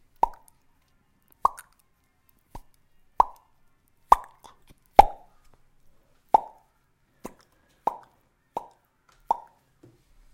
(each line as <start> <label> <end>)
0.0 popping 5.6
6.3 popping 9.6